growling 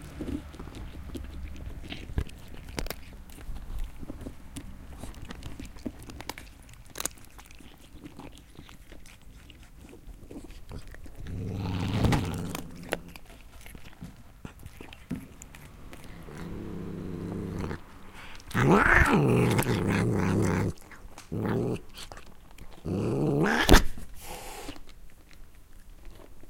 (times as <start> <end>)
7.4 13.8, 14.7 23.9